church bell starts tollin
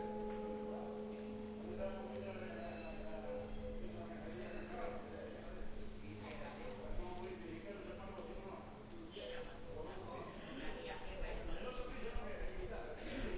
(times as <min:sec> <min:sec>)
0:00.0 0:04.6